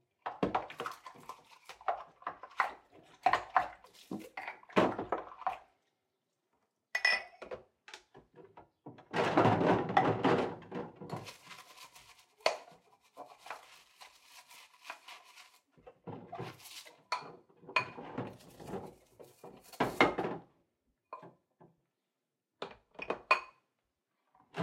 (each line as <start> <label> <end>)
0.0 water 7.2
0.2 Doing the dishes 5.7
6.9 Doing the dishes 20.4
11.0 water 20.1